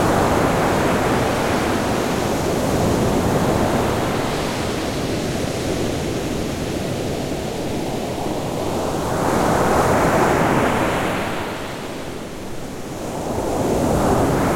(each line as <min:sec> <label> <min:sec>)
0:00.0 Big waves 0:14.5